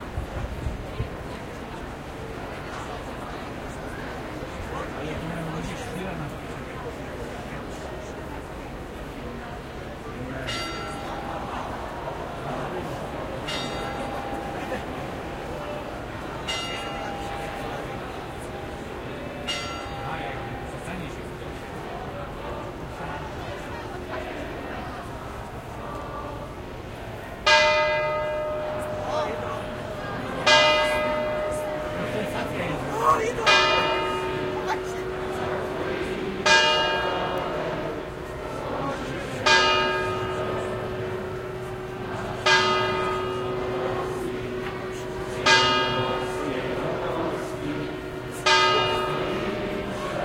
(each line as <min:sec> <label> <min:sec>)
0:00.0 crowd 0:50.2
0:09.5 anthem 0:50.2